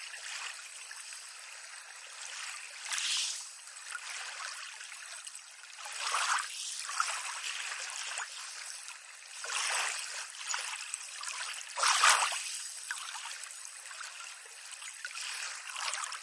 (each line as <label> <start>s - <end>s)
calm sea 0.0s - 16.2s